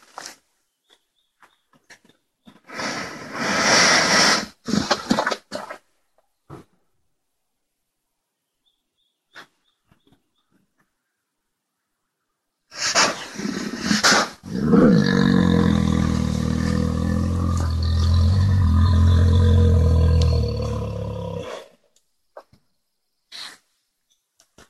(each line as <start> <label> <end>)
12.8 bear vocalization 21.8